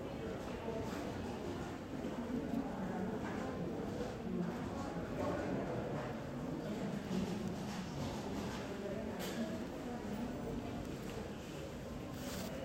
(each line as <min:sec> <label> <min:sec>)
0:10.7 working with office materials 0:12.6